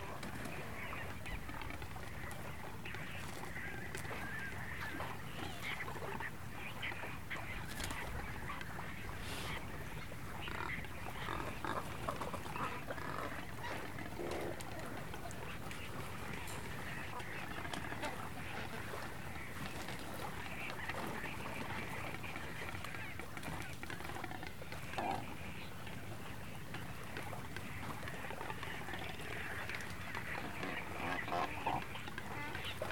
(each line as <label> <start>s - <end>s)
Cormorants 0.0s - 32.9s
seagulls 0.0s - 32.9s
small ocean birds 0.0s - 32.9s
bird droppings 0.2s - 25.3s